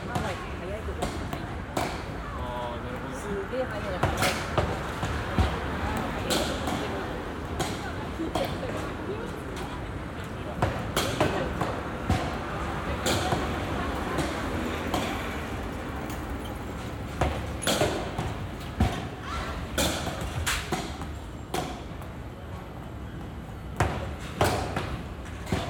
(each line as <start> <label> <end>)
0.0 Baseball Batting Practice 25.6